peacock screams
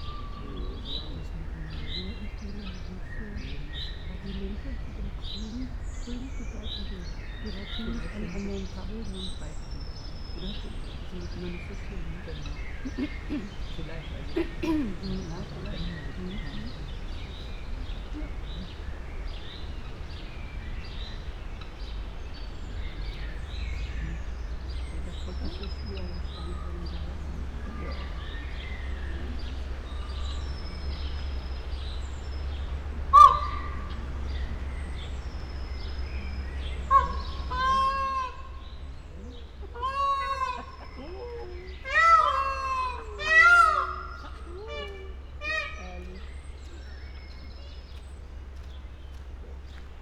33.0 34.2, 36.8 38.7, 39.7 45.8

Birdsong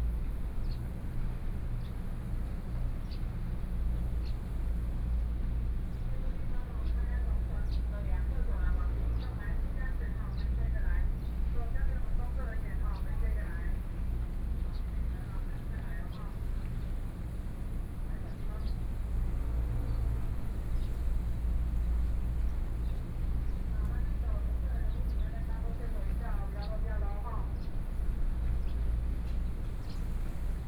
18.2 30.6

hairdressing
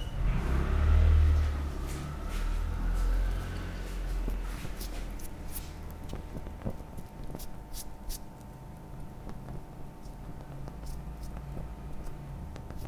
2.4 12.2

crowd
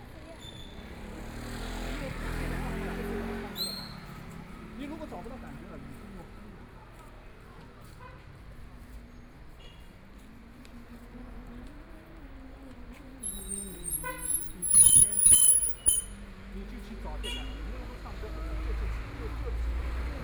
0.0 11.0

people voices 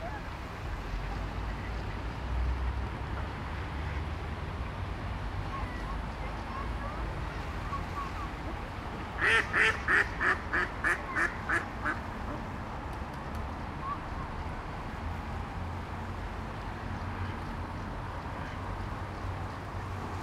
5.4 12.3

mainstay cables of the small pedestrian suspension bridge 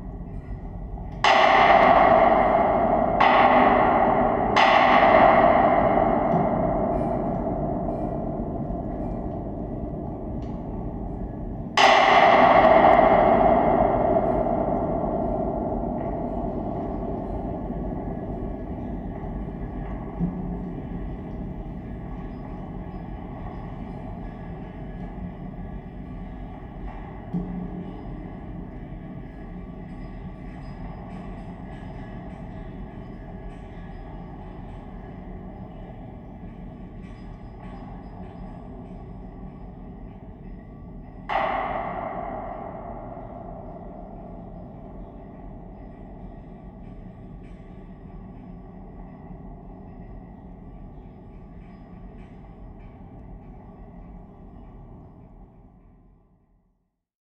12.4 56.1

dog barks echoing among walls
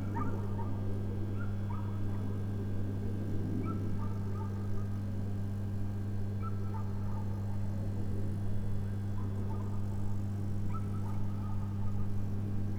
4.0 4.6

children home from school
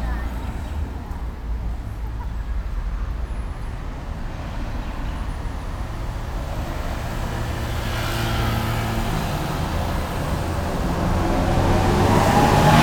0.0 7.0

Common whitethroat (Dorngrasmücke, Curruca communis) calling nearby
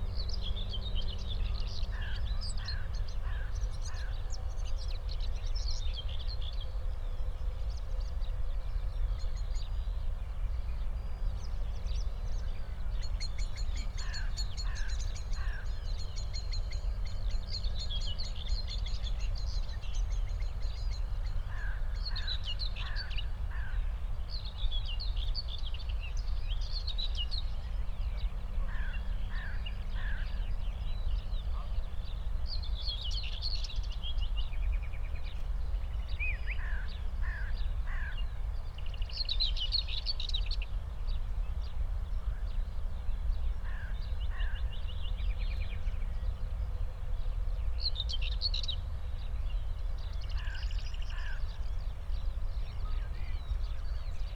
1.3 5.7, 10.5 24.6, 27.9 40.4, 41.4 48.5, 49.8 54.3

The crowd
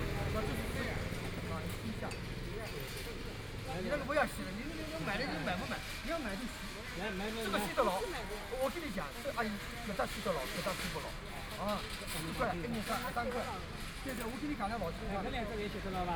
0.0 4.6

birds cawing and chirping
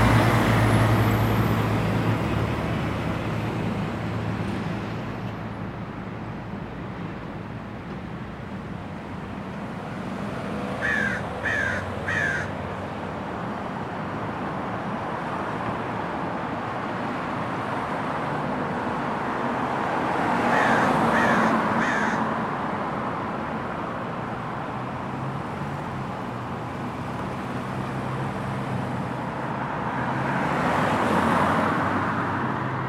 10.8 12.6, 20.4 22.4

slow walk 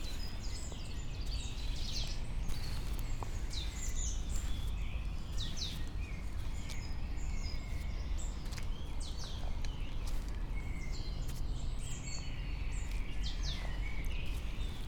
0.0 7.0

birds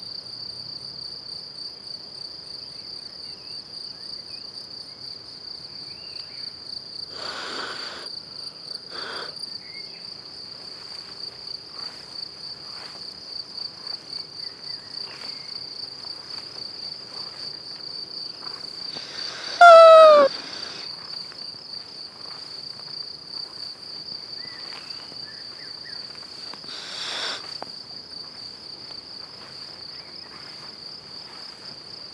19.2 20.4

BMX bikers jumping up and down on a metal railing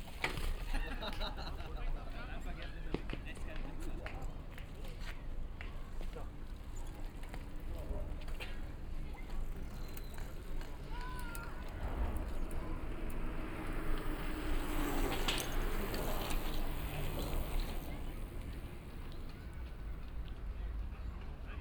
8.0 19.6

